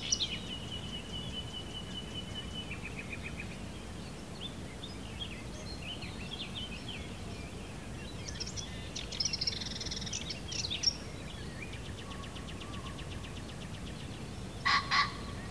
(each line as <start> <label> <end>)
0.0 birds 15.5